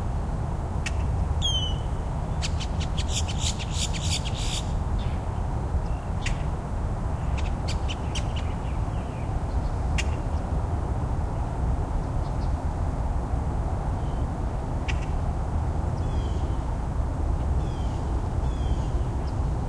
Traffic in the background 0:00.0 - 0:19.6
birdsong 0:00.8 - 0:06.6
birdsong 0:07.2 - 0:10.5
birdsong 0:16.0 - 0:16.7
birdsong 0:17.6 - 0:19.6

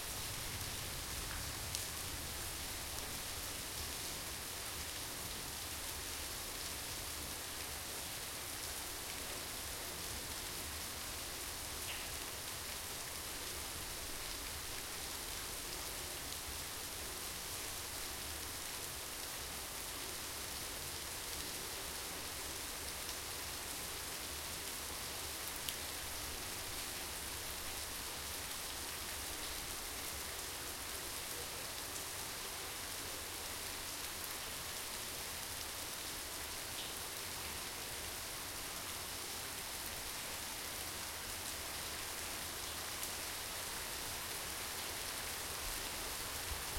Heavy Rain 0:00.0 - 0:46.7

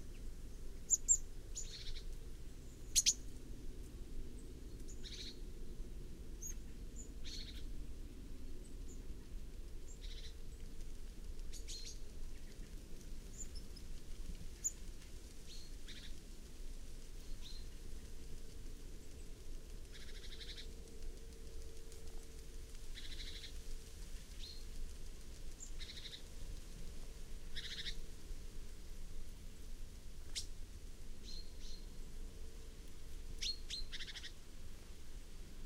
Great Tit on a tree 0:00.0 - 0:03.5
Great Tit on a tree 0:04.3 - 0:05.5
Great Tit on a tree 0:06.3 - 0:07.7
Great Tit on a tree 0:09.8 - 0:10.5
Great Tit on a tree 0:11.5 - 0:12.7
Great Tit on a tree 0:19.9 - 0:20.7
Great Tit on a tree 0:22.9 - 0:23.6
Great Tit on a tree 0:25.6 - 0:26.4
Great Tit on a tree 0:27.4 - 0:28.1
Great Tit on a tree 0:30.2 - 0:30.6
Great Tit on a tree 0:31.2 - 0:32.0
Great Tit on a tree 0:33.1 - 0:34.4

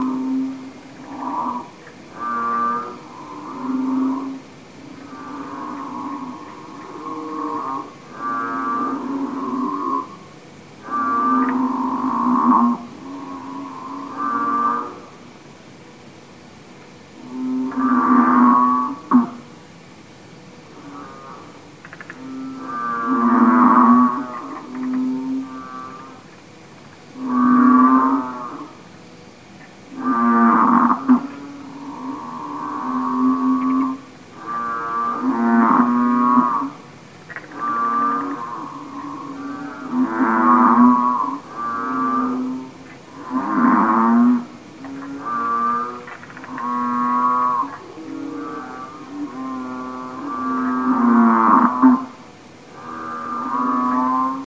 bullfrogs singing together 0:00.0 - 0:16.1
bullfrogs singing together 0:17.0 - 0:54.4

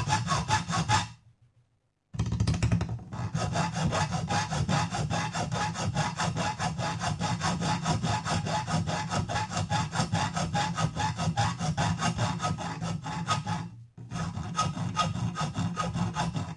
filing aluminium sheet 0:00.0 - 0:01.2
filing aluminium sheet 0:03.1 - 0:16.5

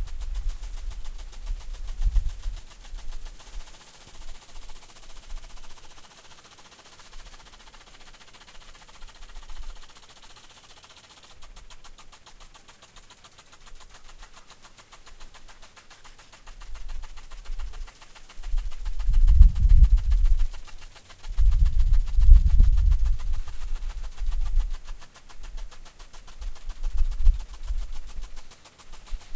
rotating sprinkler 0:00.0 - 0:29.3

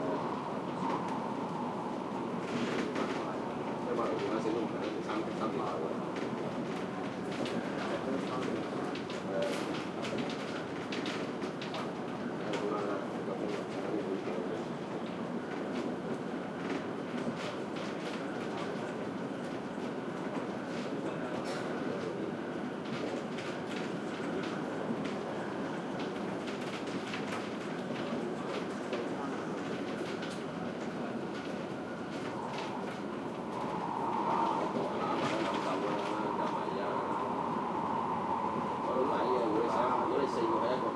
Mass Transit Railway system 0:00.0 - 0:40.9
people boarding and chatting 0:00.0 - 0:40.9
announcements 0:31.9 - 0:40.9

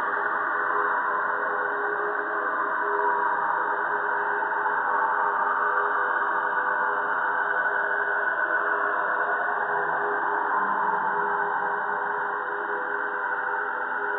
slowly evolving ambient drone pad 0:00.0 - 0:14.1

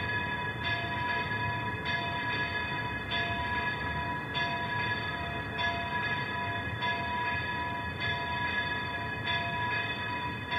pealing bells 0:00.0 - 0:10.5
streetnoise 0:00.0 - 0:10.5

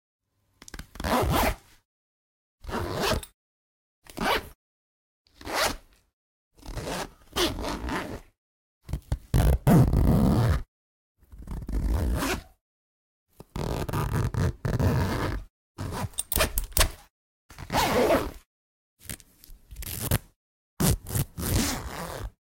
zipper sounds from handbags,bags,purses 0:00.9 - 0:01.8
zipper sounds from handbags,bags,purses 0:02.6 - 0:03.4
zipper sounds from handbags,bags,purses 0:04.1 - 0:04.6
zipper sounds from handbags,bags,purses 0:05.3 - 0:06.0
zipper sounds from handbags,bags,purses 0:06.6 - 0:12.6
zipper sounds from handbags,bags,purses 0:13.5 - 0:22.4

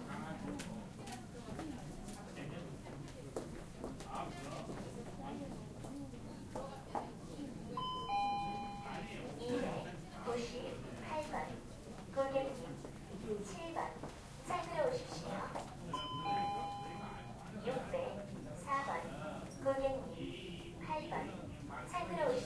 People talking in Korean 0:00.0 - 0:22.4
bell 0:07.8 - 0:09.1
bell 0:16.0 - 0:17.3

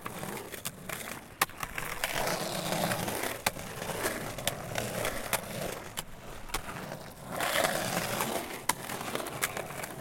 skate boards 0:00.0 - 0:10.0

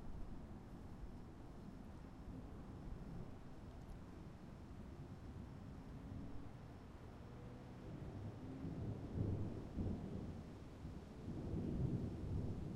Small rolling thunder 0:09.0 - 0:12.7

